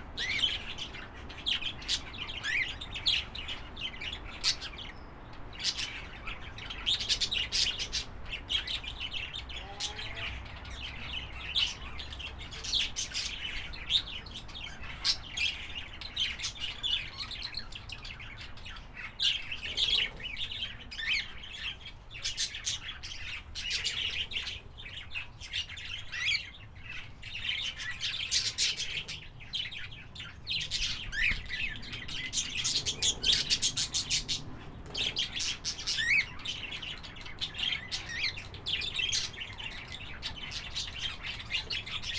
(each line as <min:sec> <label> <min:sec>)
0:00.0 Australian parrots 0:42.1